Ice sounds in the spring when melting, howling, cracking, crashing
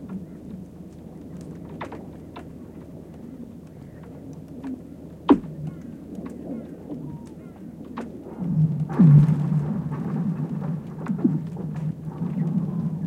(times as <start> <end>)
5.5 13.0